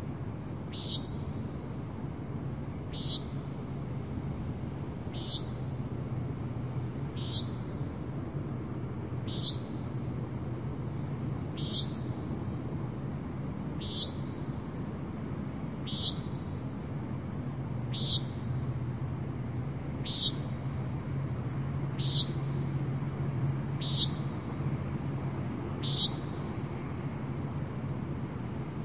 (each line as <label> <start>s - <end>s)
bird calls 0.7s - 1.4s
bird calls 2.9s - 3.6s
bird calls 5.1s - 5.9s
bird calls 7.1s - 7.9s
bird calls 9.2s - 10.0s
bird calls 11.6s - 12.3s
bird calls 13.8s - 14.5s
bird calls 15.8s - 16.6s
bird calls 17.9s - 18.6s
bird calls 20.0s - 20.8s
bird calls 21.9s - 22.8s
bird calls 23.8s - 24.6s
bird calls 25.8s - 26.6s